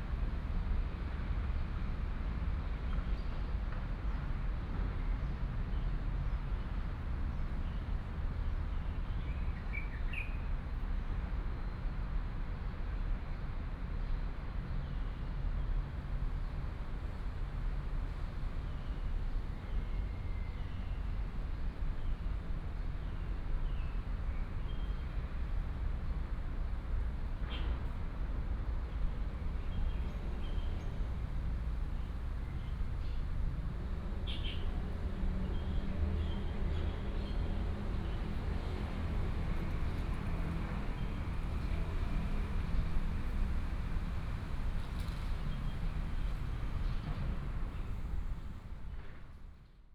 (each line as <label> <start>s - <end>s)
Traffic sound 16.5s - 49.8s